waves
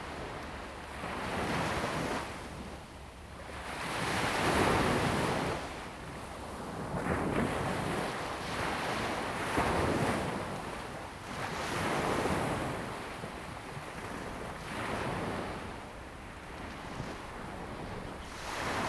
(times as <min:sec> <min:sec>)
0:11.3 0:18.8